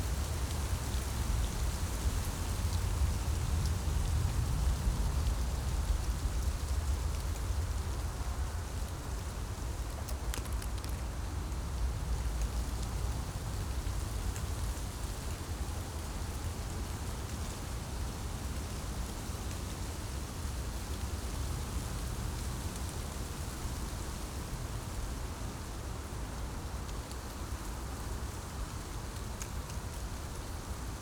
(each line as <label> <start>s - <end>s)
wind in poplar trees 0.0s - 31.0s